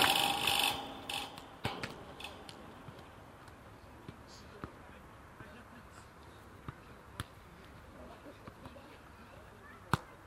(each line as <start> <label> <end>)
0.0 soccer training 10.2